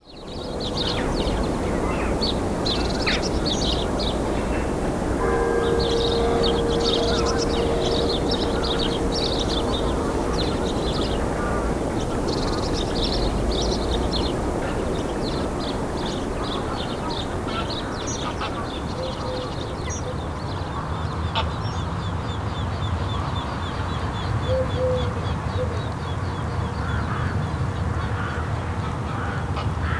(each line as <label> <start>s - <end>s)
river 0.1s - 20.8s